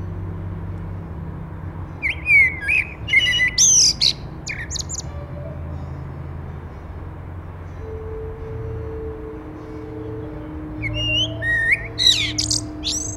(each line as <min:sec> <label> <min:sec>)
0:01.9 Common Blackbird 0:05.9
0:10.8 Common Blackbird 0:13.1